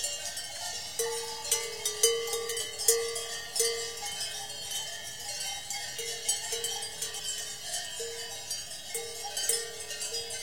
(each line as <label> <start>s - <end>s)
cowbells 0.0s - 10.4s